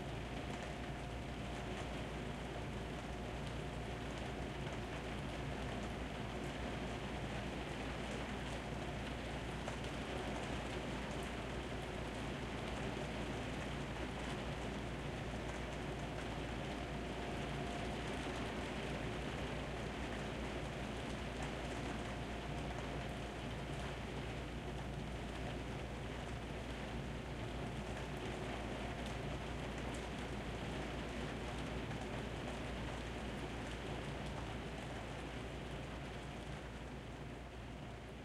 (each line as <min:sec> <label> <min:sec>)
0:00.0 Rain on an Indoor Skylight 0:38.2